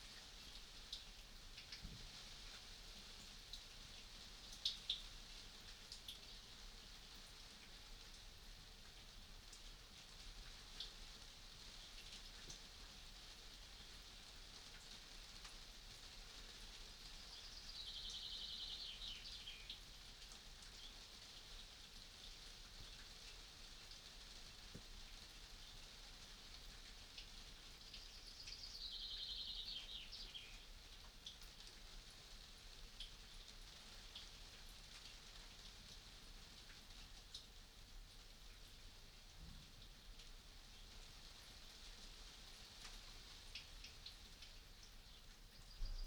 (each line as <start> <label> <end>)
0.0 hail on a greenhouse 46.0
17.2 bird song 19.8
27.9 bird song 30.7
45.0 bird song 46.0